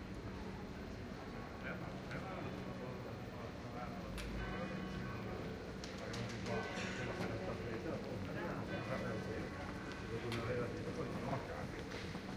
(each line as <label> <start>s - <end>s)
Distant churchbells are ringing 3.5s - 12.2s
church bell close by starts to ring 4.0s - 12.2s